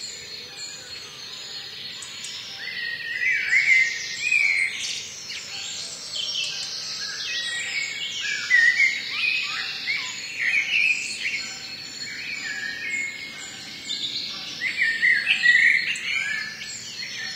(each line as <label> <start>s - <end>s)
Bird song 0.0s - 17.3s